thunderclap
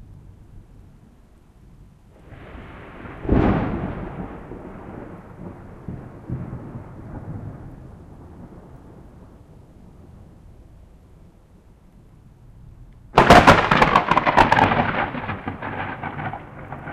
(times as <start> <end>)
2.2 10.2, 13.2 16.9